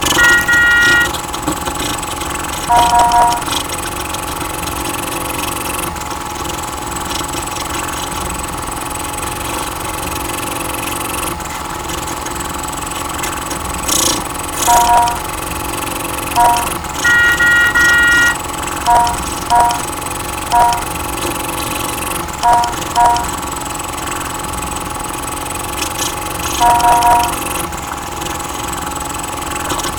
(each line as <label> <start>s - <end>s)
jerky jalopy with sputters 0.0s - 10.2s
jerky jalopy with sputters 10.8s - 23.4s
horn 16.4s - 18.4s
jerky jalopy with sputters 25.2s - 29.9s